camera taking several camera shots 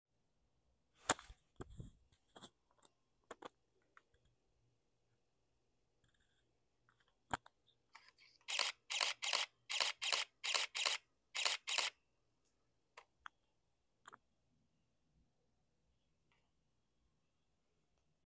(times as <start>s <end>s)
8.0s 12.0s